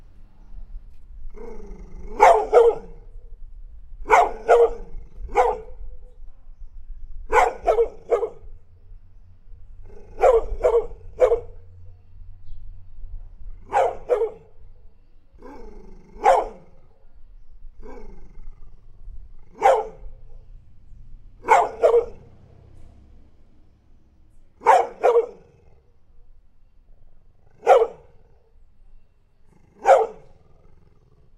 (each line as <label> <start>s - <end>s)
barking 1.3s - 3.1s
barking 4.0s - 5.8s
barking 7.3s - 8.5s
barking 9.8s - 11.7s
barking 13.6s - 14.6s
barking 15.4s - 16.8s
barking 17.8s - 18.8s
barking 19.4s - 20.4s
barking 21.4s - 22.4s
barking 24.6s - 25.8s
barking 27.4s - 28.4s
barking 29.5s - 31.1s